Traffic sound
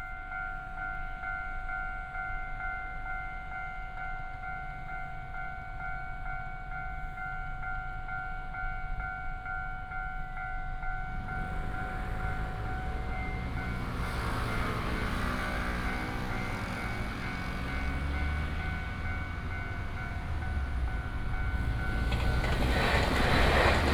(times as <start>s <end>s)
11.1s 23.9s